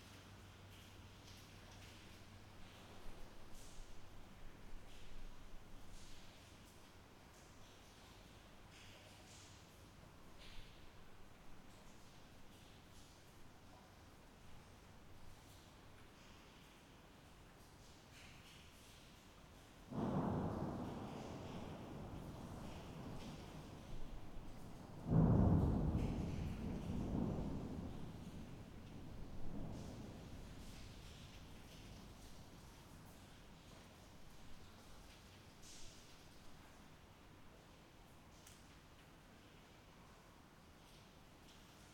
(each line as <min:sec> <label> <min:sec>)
0:00.0 rain 0:41.9
0:19.9 thunder 0:33.7